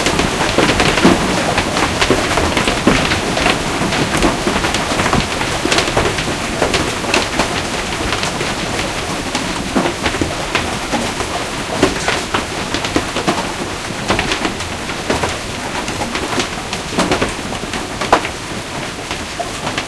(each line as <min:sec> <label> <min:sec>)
0:00.0 Hailstorm 0:19.8